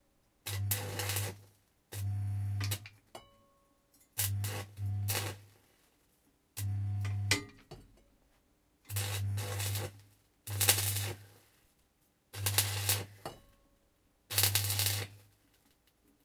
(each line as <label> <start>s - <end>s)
Welding 1 short bursts 0.5s - 1.4s
Welding 1 short bursts 4.2s - 5.5s
Welding 1 short bursts 8.9s - 11.4s
Welding 1 short bursts 12.4s - 13.2s
Welding 1 short bursts 14.3s - 15.2s